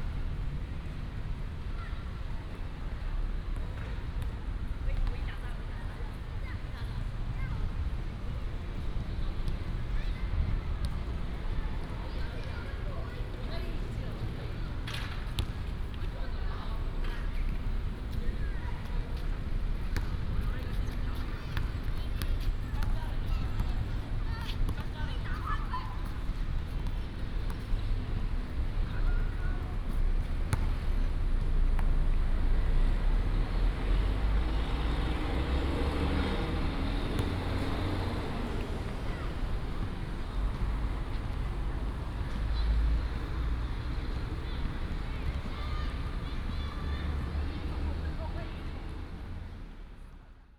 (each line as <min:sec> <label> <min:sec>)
0:00.0 Traffic sound 0:50.5
0:00.0 Walking the primary school playground 0:50.5